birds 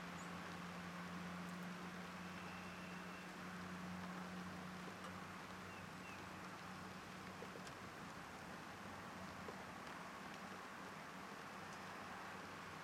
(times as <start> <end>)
0.0 8.4